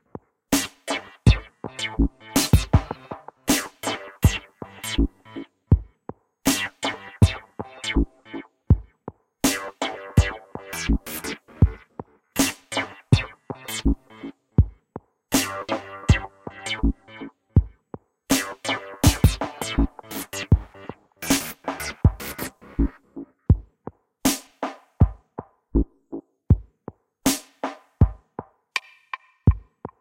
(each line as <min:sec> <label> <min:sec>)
0:00.0 drums 0:30.0